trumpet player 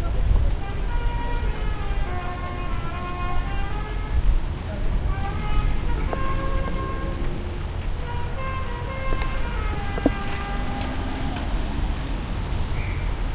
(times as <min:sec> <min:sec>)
0:04.9 0:11.0